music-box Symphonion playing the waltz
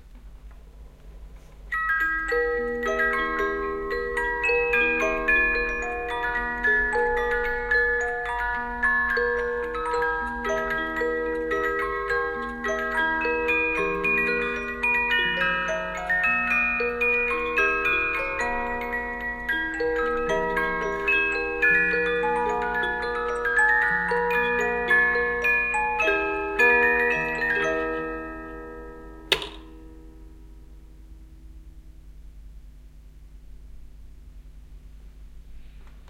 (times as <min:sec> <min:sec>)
0:01.7 0:29.3